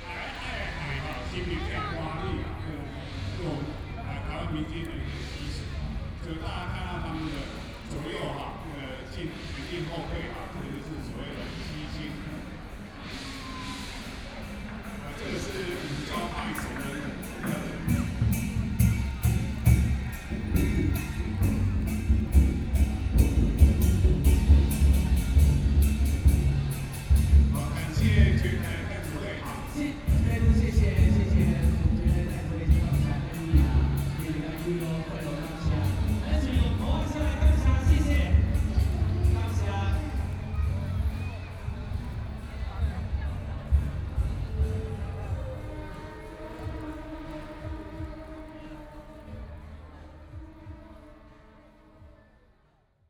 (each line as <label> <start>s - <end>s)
traditional performing teams 0.0s - 52.3s